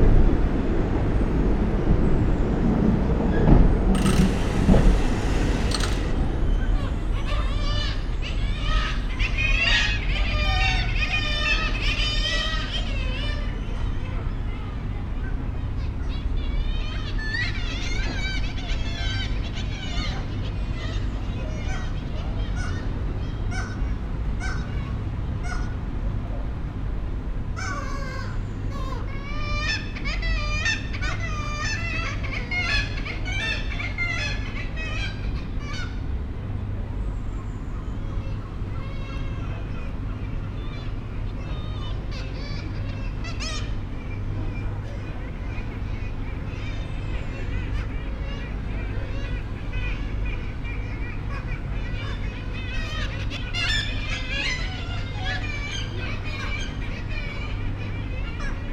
0.0s air conditioning 58.7s
4.0s jackdaw 6.5s
6.8s kittiwake colony on the ledges and window sills 58.7s

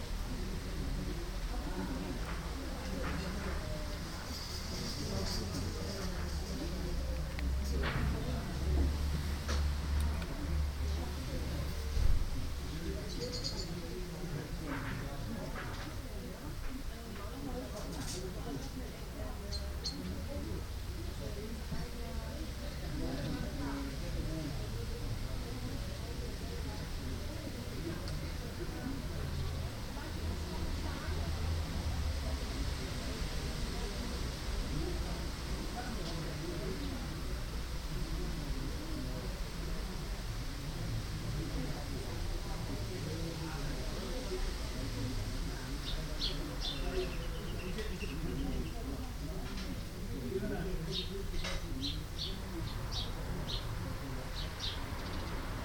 0.0s neighbours chatting 55.6s
0.0s wind 55.6s
13.0s Birds 14.0s
19.4s Birds 20.2s
45.8s Birds 49.0s
50.8s Birds 55.5s

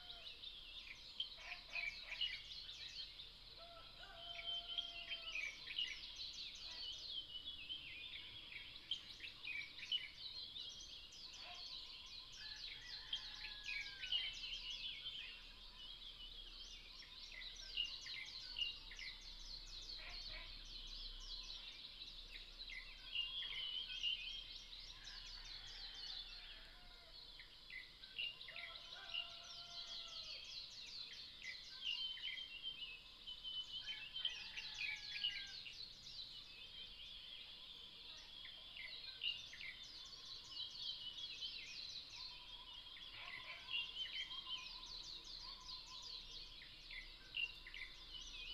0.0s Bird calls 15.9s
16.7s Bird calls 27.1s
36.5s Bird calls 48.5s

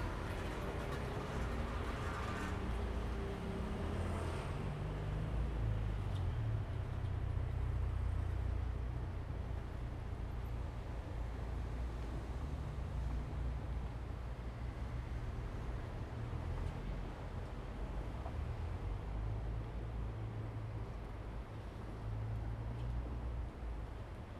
0.0s Traffic sound 5.5s

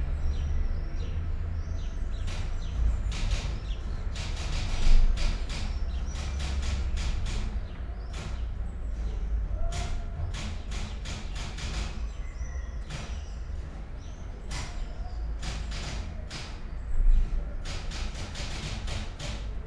2.3s typewriter 8.4s
9.6s typewriter 12.2s
14.5s typewriter 16.6s
17.6s typewriter 19.6s

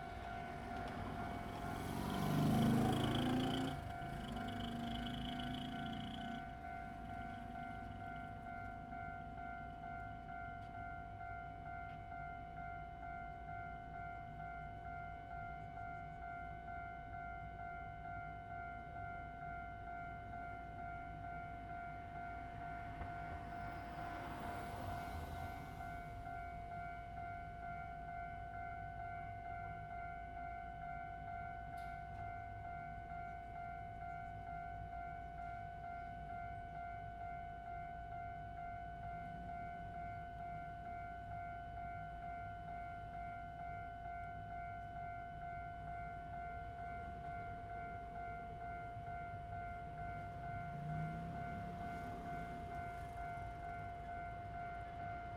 0.0s traffic sound 12.3s
0.0s Railroad Crossing 55.3s
0.0s train runs through 55.3s
15.6s traffic sound 55.3s

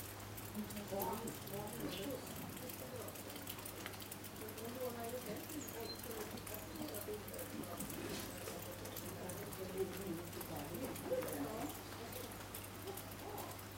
0.0s rain 13.7s

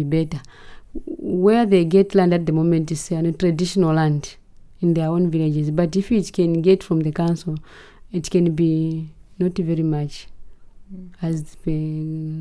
10.8s longer conversation 12.4s

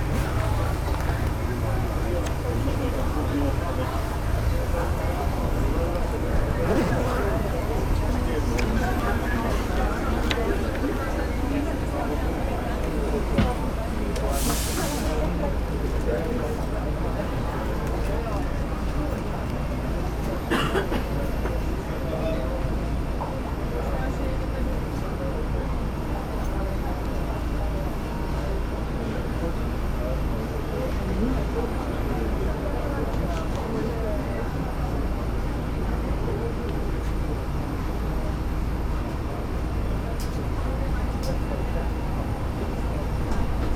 0.0s crowd mumbling 16.5s

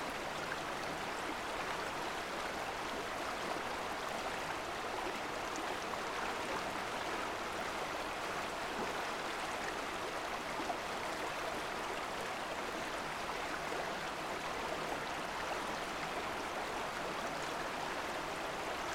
0.0s Water Flowing Under Thunder Creek 18.9s

